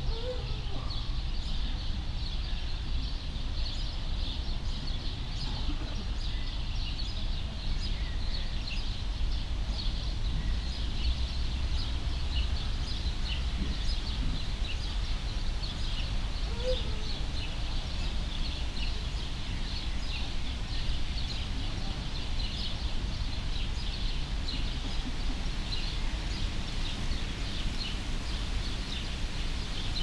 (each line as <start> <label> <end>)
0.0 sad voices of caged birds 2.4
9.4 sad voices of caged birds 30.0